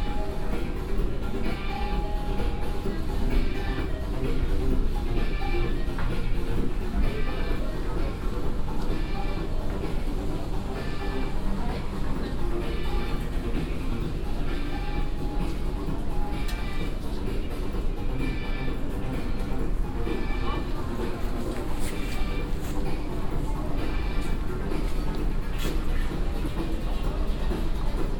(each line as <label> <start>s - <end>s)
store music 0.0s - 28.1s
walking around 0.4s - 28.1s